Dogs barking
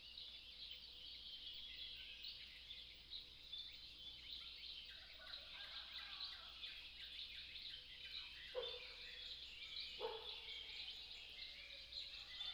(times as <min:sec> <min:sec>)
0:10.0 0:10.5